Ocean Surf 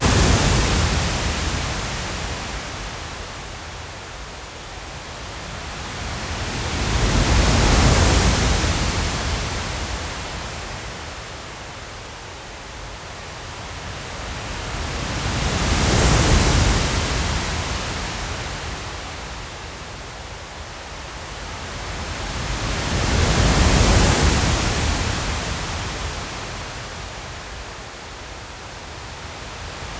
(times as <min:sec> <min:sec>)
0:00.0 0:02.3